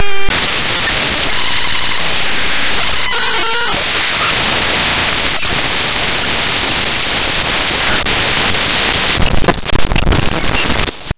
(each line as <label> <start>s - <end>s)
glitch 0.0s - 11.1s